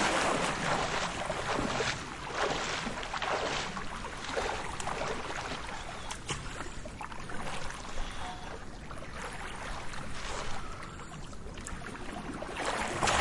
Swimming in a natural pool 0.0 - 13.2
birds 5.1 - 12.0

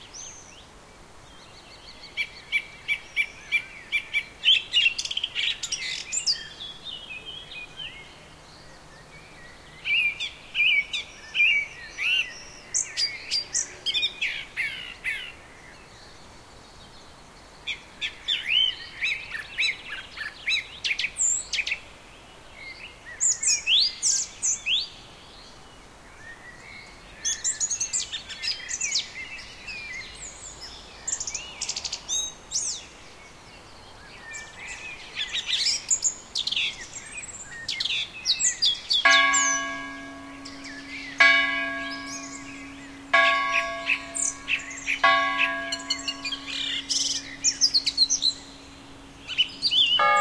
wind in trees 0.0 - 50.2
little bird is singing 38.4 - 48.5
lower bell tolling the hour 9 times 39.0 - 50.2
high bell 4 times 39.1 - 48.7
high bell 4 times 50.0 - 50.2

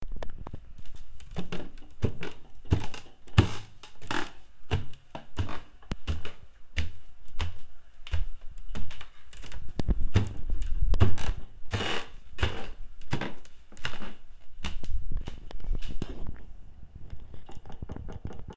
creaks 0.2 - 4.4
walking up squeaky wood stairs 0.8 - 15.4
creaks 10.6 - 12.8

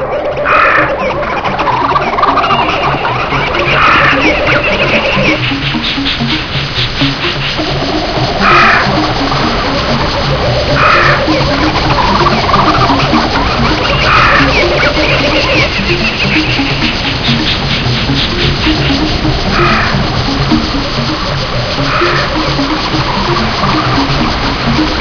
birds 0.0 - 20.1
Music that evokes a jungle feel 0.0 - 25.0
birds 21.1 - 25.0

